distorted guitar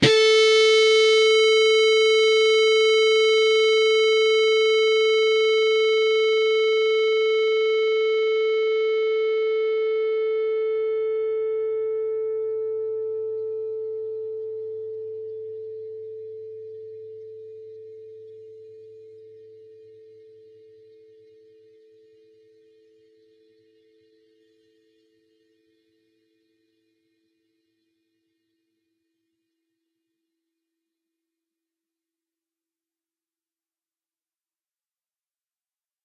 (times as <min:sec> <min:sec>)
0:00.0 0:09.8